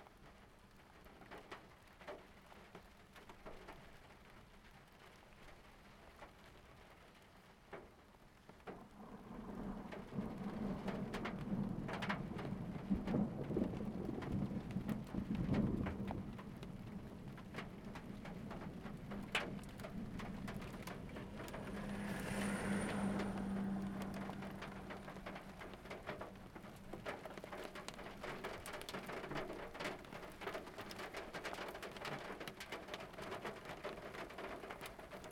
rain on the roof 0.0 - 35.3
Electrical Storm Just Off The Coast 8.7 - 31.2
wind whipping through the door frame 9.7 - 35.3

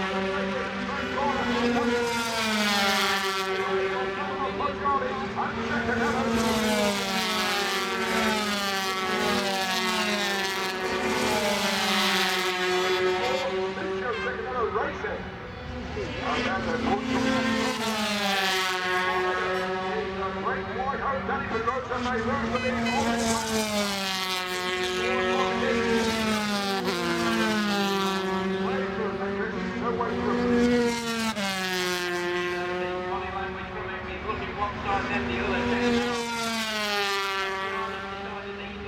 125cc motorcycle race 0.0 - 38.8

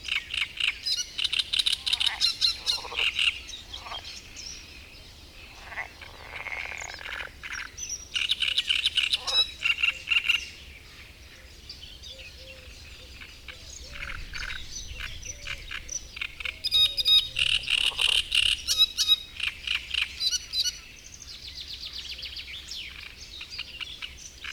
frog chorus 0.0 - 10.4
great reed warbler singing 0.0 - 24.5
frog chorus 12.2 - 20.9

